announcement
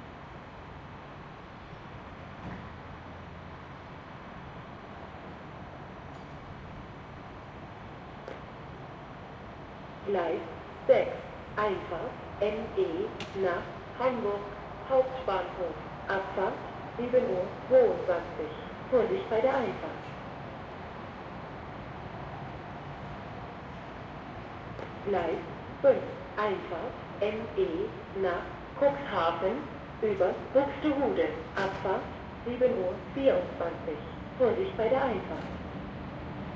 10.0s 20.0s, 25.0s 35.5s

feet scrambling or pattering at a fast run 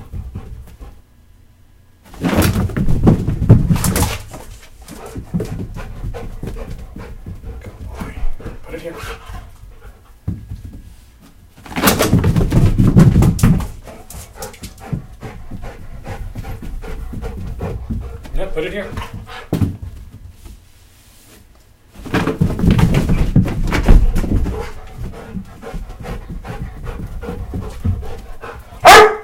22.0s 29.1s

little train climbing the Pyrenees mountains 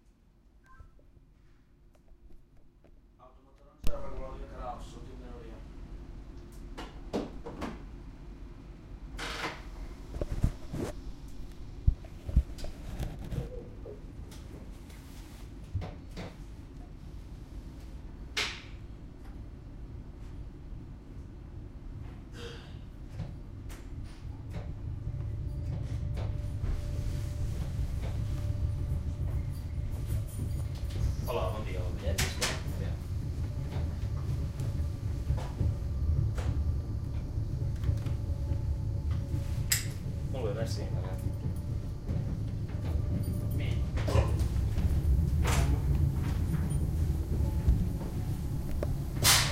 24.2s 49.4s

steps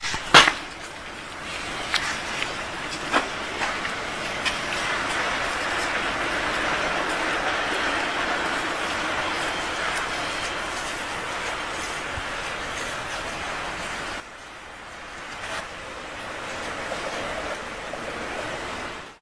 0.0s 14.3s

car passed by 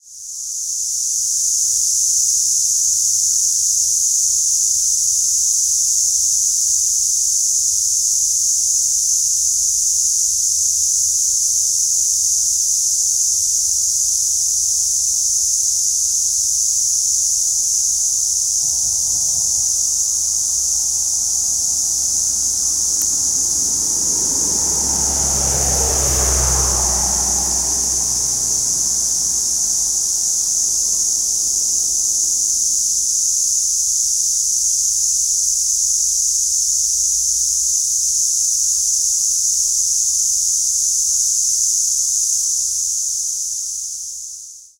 17.5s 32.6s

